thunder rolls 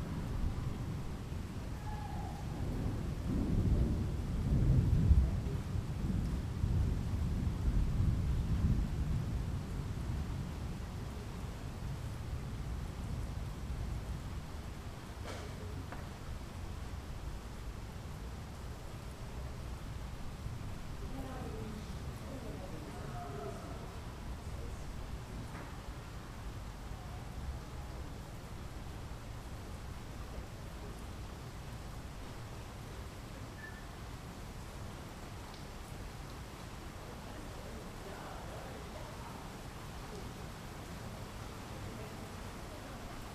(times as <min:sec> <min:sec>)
0:00.0 0:10.3